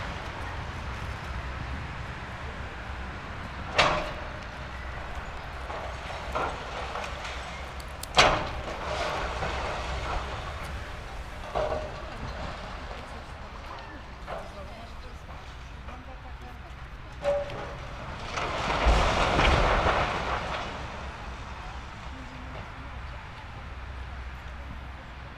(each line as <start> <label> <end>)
0.0 crushing the rubble with its tracks 25.3
0.0 excavator demolishing an old building 25.3